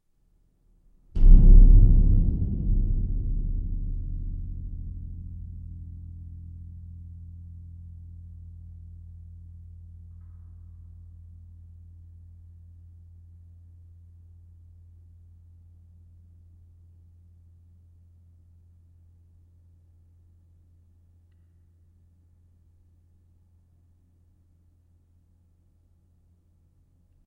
stinger 0:01.2 - 0:06.4

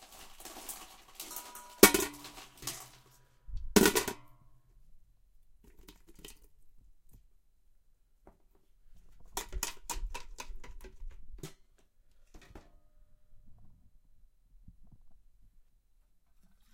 ice 0:00.0 - 0:03.2
pouring 0:00.0 - 0:03.3

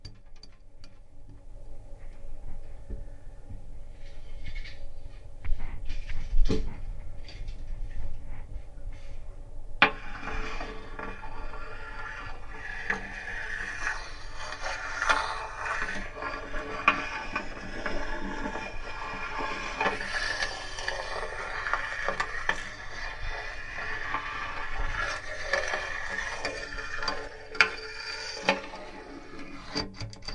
scraping the edge of a tape measure on my bathtub 0:09.8 - 0:30.3

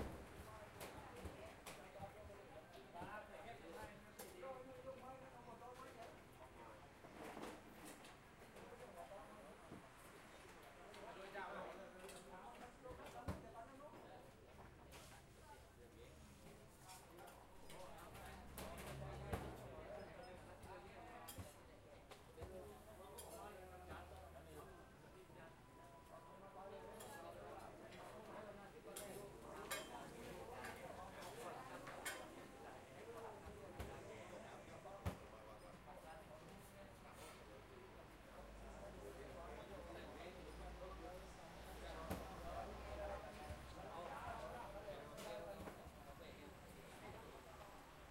customers all around 0:00.0 - 0:48.1

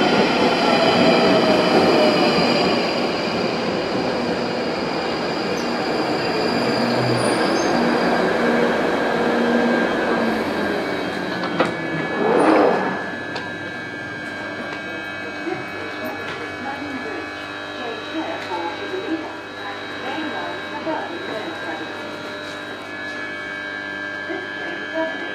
train pulling out of the station 0:00.0 - 0:17.0
train arriving at station 0:00.0 - 0:25.3

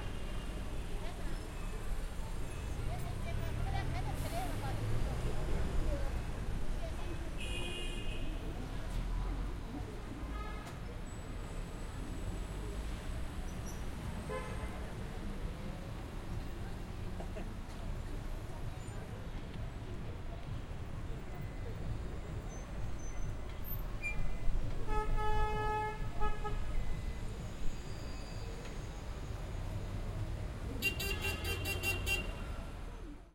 Traffic sounds 0:00.0 - 0:33.3
voices and footsteps of passerby 0:00.0 - 0:33.3

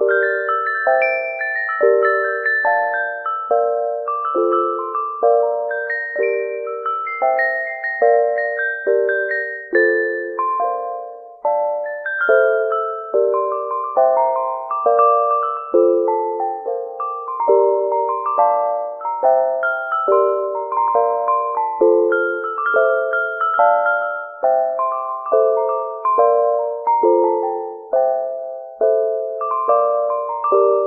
Chime sounds by my Casio synth 0:00.0 - 0:30.8

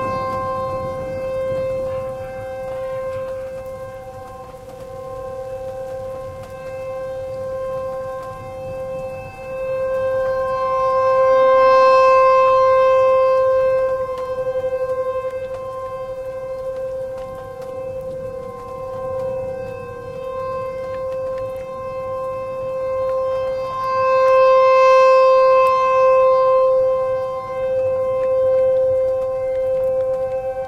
very loud thunder 0:00.0 - 0:03.5
hail 0:00.0 - 0:30.6
rain 0:00.0 - 0:30.6
tornado warning siren going off 0:00.0 - 0:30.6
wind 0:00.0 - 0:30.6

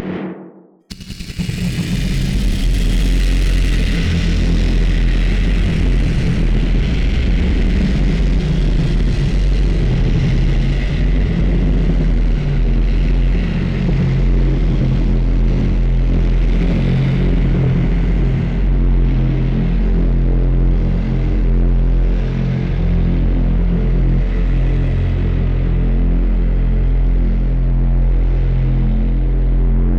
drone 0:00.0 - 0:29.9
rumble 0:00.0 - 0:29.9
glitch 0:00.9 - 0:07.4

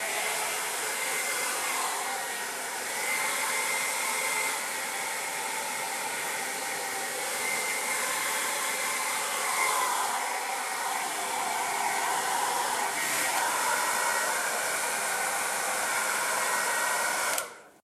hair dryer 0:00.0 - 0:17.8

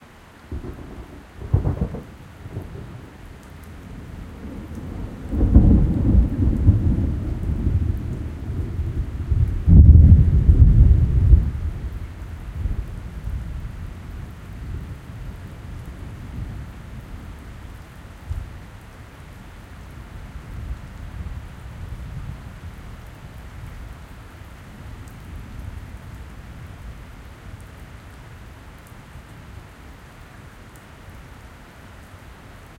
rain on the paving 0:00.0 - 0:32.7
rolling thunder 0:00.5 - 0:03.1
rolling thunder 0:03.8 - 0:13.7

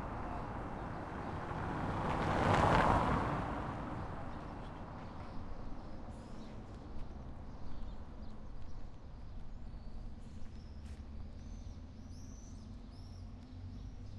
Cars passing by on a cobblestone road 0:00.0 - 0:14.1

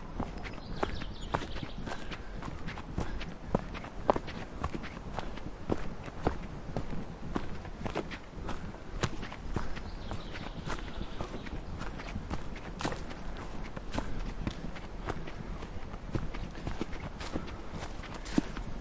Marche Rapide Forêt 0:00.0 - 0:18.8
Breathing 0:01.8 - 0:03.9
Breathing 0:17.2 - 0:18.6

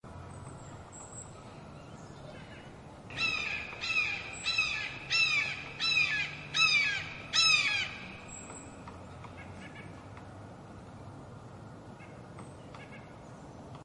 cry of a Red-Shouldered Hawk 0:03.1 - 0:08.1

